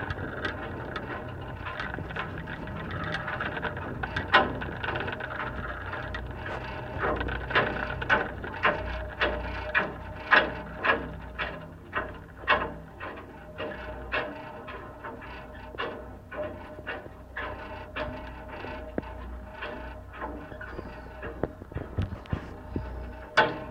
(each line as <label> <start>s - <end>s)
rumble 0.0s - 23.7s